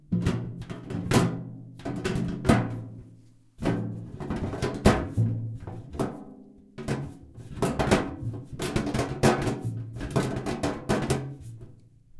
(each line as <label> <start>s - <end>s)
Tapping shaking and gently slamming a metal jar 6.8s - 11.8s